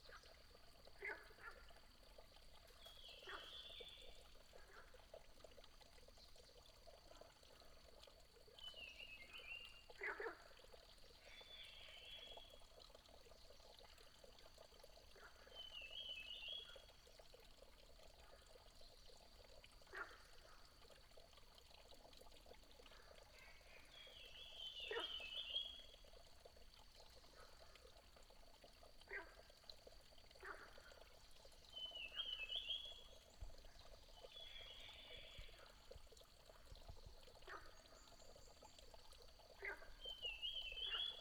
Small water 0.0 - 41.2

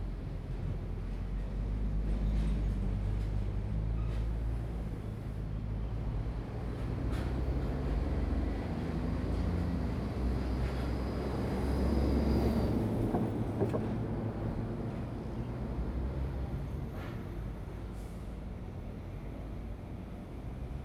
traffic sound 5.2 - 20.8

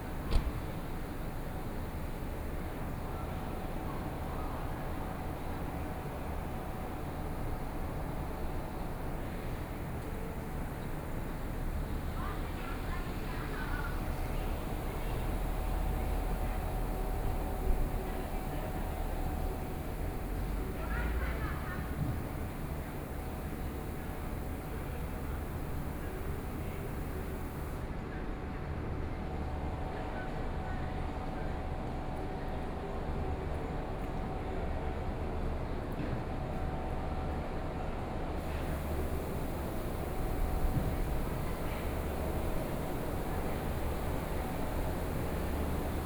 Air conditioning noise 0.0 - 27.8
Air conditioning noise 38.4 - 46.0

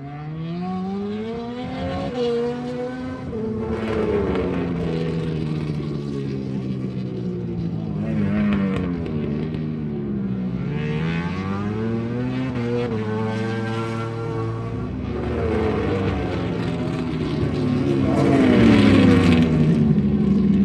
Motorcycle 0.0 - 20.6

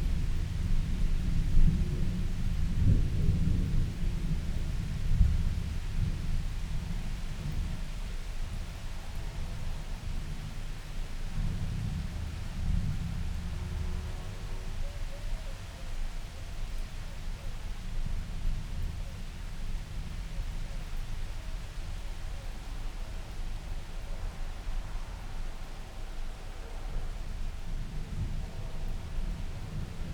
thunderstorm 0.0 - 10.6
thunderstorm 23.5 - 30.1

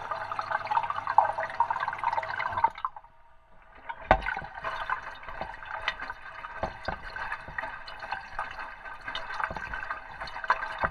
water inflow 0.0 - 10.9

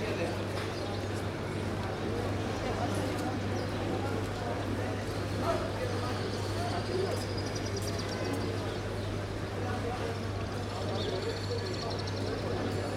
Locals and tourists talking 0.0 - 12.9
touristic buses in the background 0.0 - 12.9

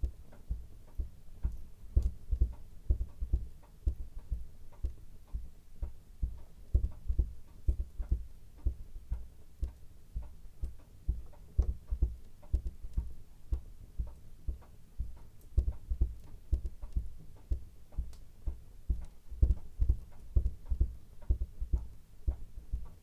large clock on the mantelshelf 0.0 - 23.0

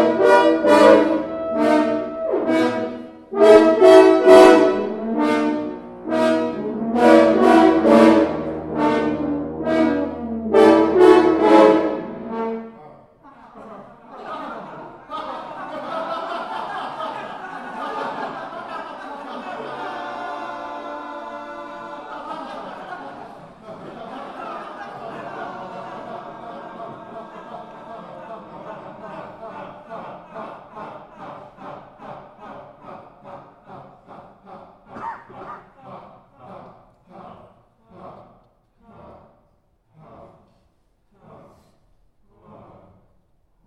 French Horn 0.0 - 12.9

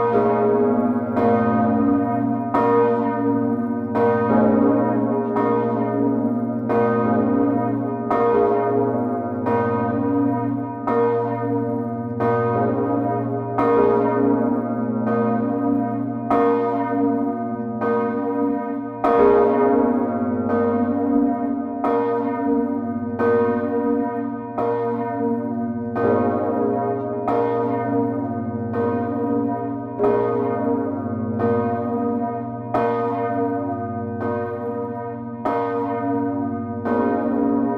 cathedral bells 0.0 - 37.7

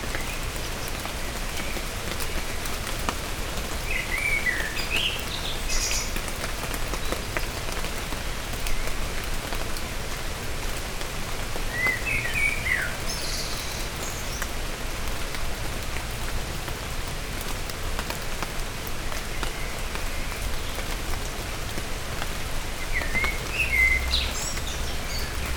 rain is falling 0.0 - 25.5
blackbirds give a delicious song 0.1 - 9.4
blackbirds give a delicious song 11.6 - 14.7
blackbirds give a delicious song 22.7 - 25.5

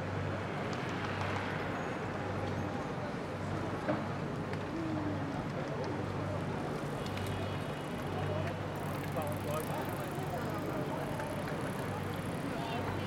bikers 0.0 - 13.0

